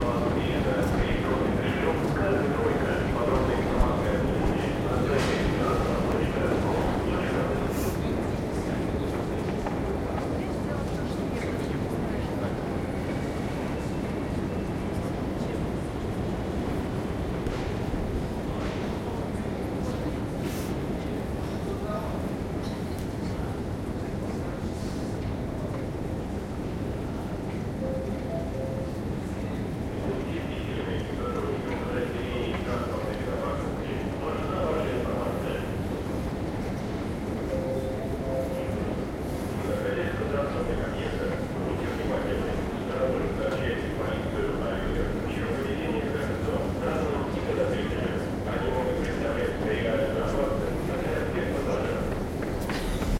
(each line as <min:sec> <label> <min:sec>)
0:00.0 metro announcements 0:53.1